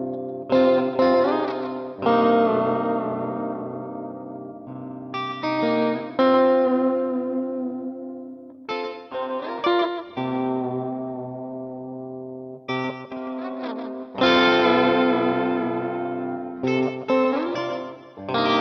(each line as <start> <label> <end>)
0.0 C and G chords 18.6